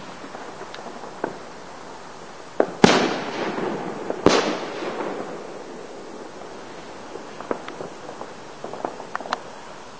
Double boom from a large firework exploding 2.6 - 9.1

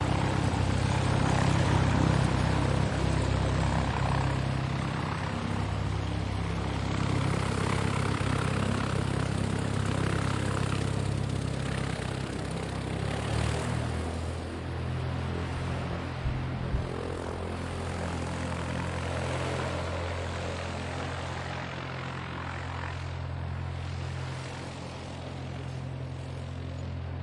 Light Aircraft with engine running 0.0 - 27.2

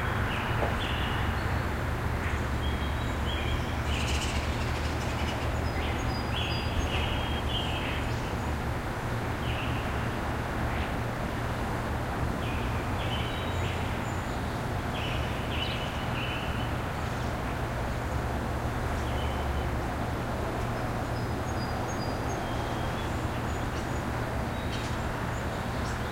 Birds 0.0 - 11.0
traffic 0.0 - 26.1
Birds 12.4 - 26.1

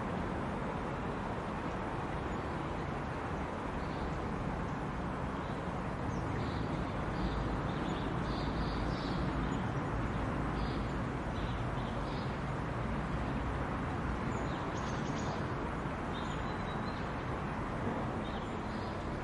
birds 2.1 - 12.5
birds 14.2 - 17.4

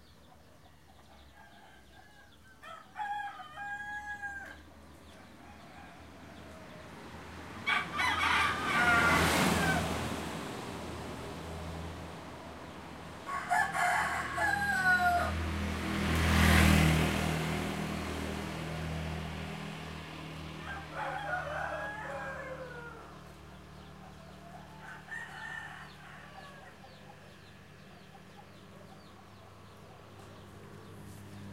Roosters 0.0 - 10.5
Roosters 13.1 - 16.0
Roosters 20.4 - 31.5

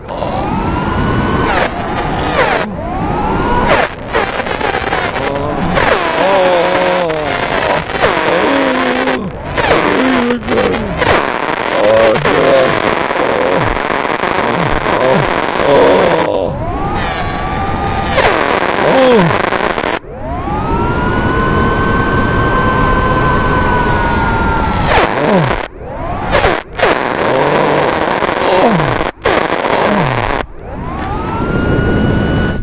drilling a molar 1.4 - 2.7
drilling a molar 3.6 - 20.0
gargling 5.1 - 17.3
gargling 18.1 - 19.7
drilling a molar 22.5 - 31.2
gargling 26.3 - 30.4

